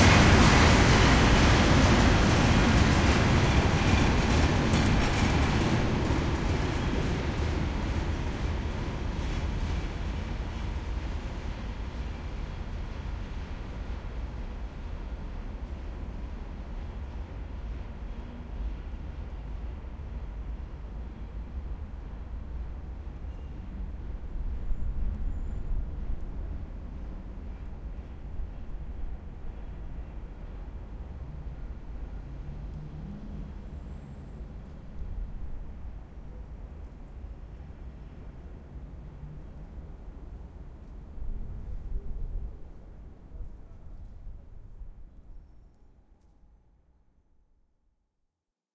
0.0s trams 45.7s
0.0s train 47.5s
31.2s cars 35.2s

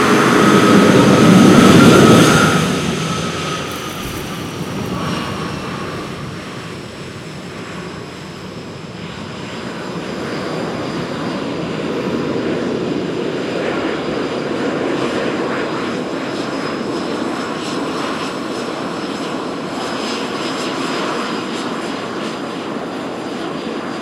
0.0s aircraft shutdown 18.2s

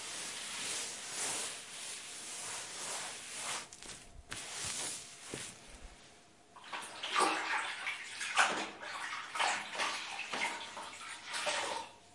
0.0s wiping the floor 11.9s

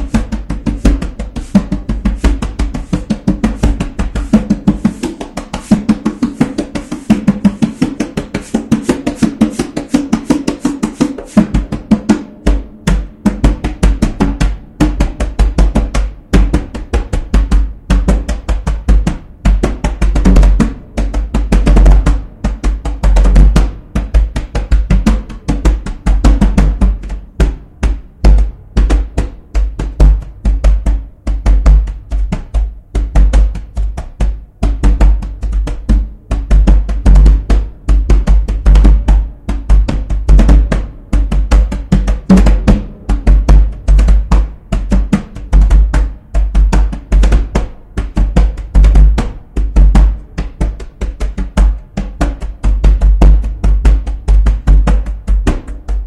0.0s djembe played by myself improvisationally 56.0s

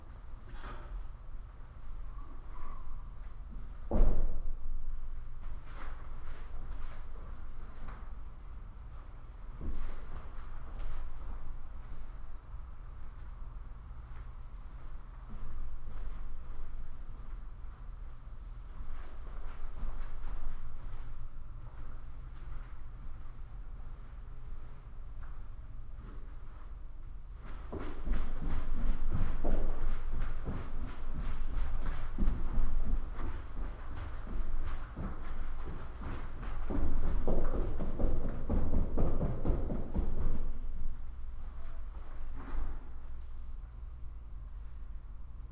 8.9s Muffled Steps On Carpet 12.3s
14.0s Muffled Steps On Carpet 17.5s
27.4s Muffled Steps On Carpet 43.7s

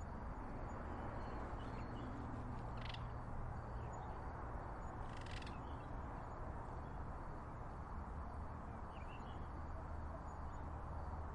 0.0s crickets 11.3s

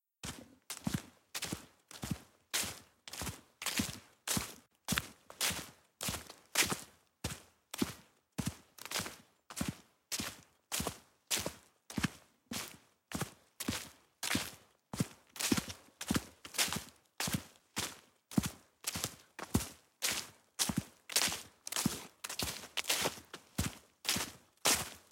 0.2s footsteps-wet-dirt-and-leaves 25.1s

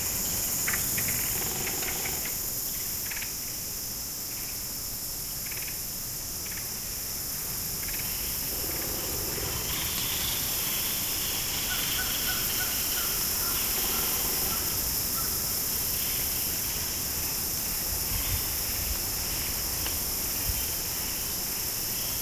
8.2s wind sifting through the branches of the oaks 15.0s
8.4s chattering of woodpeckers 14.9s

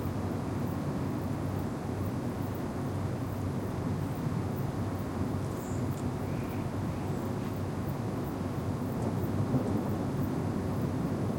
5.5s birds sing at the trees 7.4s
9.0s thunders and distant rumble 11.3s

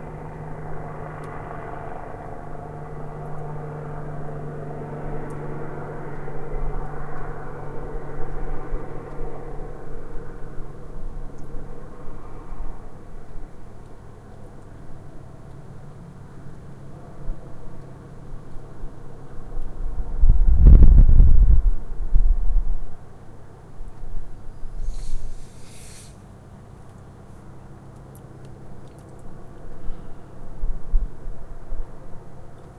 0.0s helicopter scouting around close by 32.7s
24.8s Air Tone 26.2s

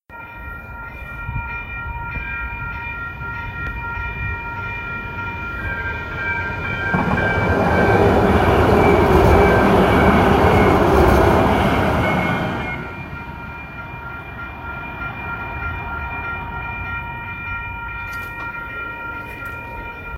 0.1s Crossing Guard bell chiming loudly 20.1s
0.1s Light Rail Train Passing 20.1s

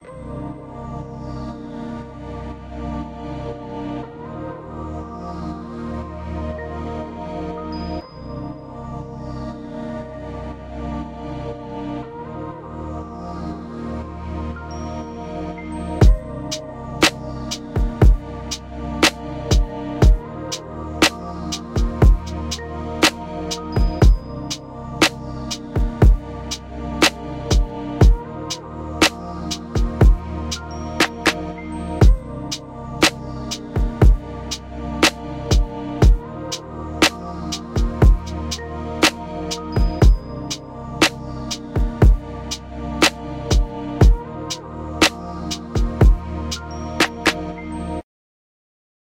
0.0s synth 48.0s
0.0s vocals 48.0s
16.0s drums 16.2s
17.0s drums 18.2s
19.0s drums 20.2s
21.0s drums 22.4s
23.8s drums 24.2s
25.8s drums 26.2s
27.0s drums 28.2s
29.0s drums 30.2s
33.8s drums 34.2s
35.0s drums 36.2s
37.0s drums 38.4s
39.8s drums 40.2s
41.8s drums 42.2s
43.5s drums 44.2s
45.0s drums 46.2s

